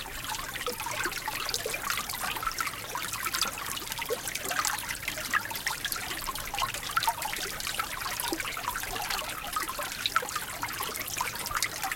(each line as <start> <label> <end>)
0.0 Small brook gurgling and babbling brightly 11.9